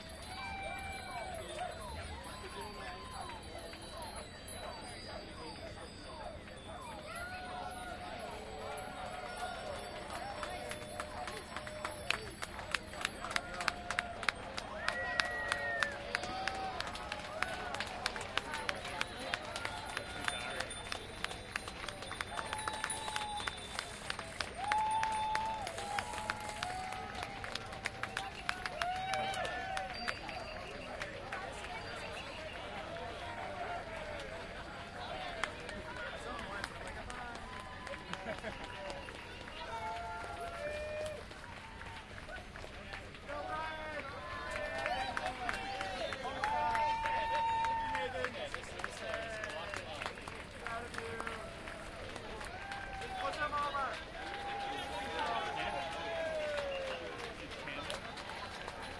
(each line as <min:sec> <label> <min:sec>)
0:00.0 crowd cheer 0:04.3
0:00.0 cowbells 0:16.8
0:00.0 crowd applauding 0:58.9
0:06.6 crowd cheer 0:58.9
0:18.4 cowbells 0:26.5
0:28.4 cowbells 0:34.2